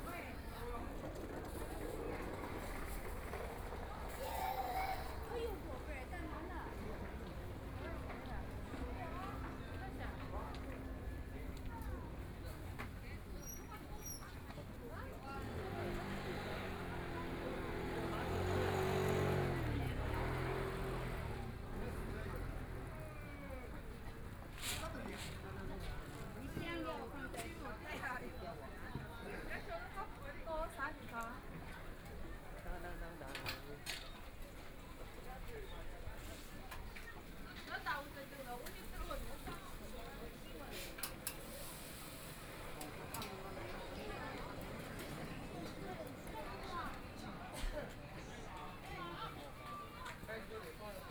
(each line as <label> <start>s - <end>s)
Walking in the street market 0.0s - 51.1s